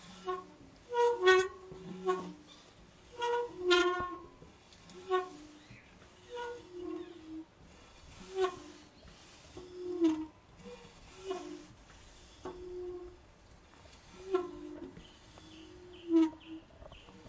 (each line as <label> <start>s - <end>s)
Gate squeak 0.1s - 7.4s
Gate squeak 8.1s - 8.9s
Gate squeak 14.0s - 17.2s